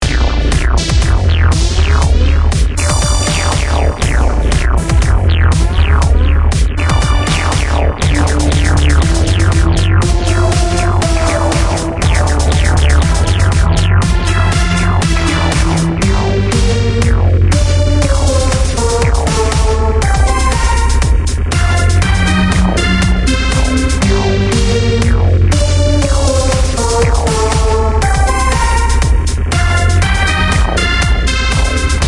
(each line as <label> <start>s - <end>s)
Beats 0.0s - 32.0s
Synth 0.0s - 32.0s